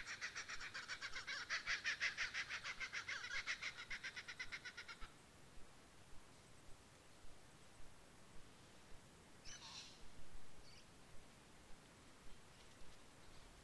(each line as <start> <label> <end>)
0.0 flock of kookaburras 5.1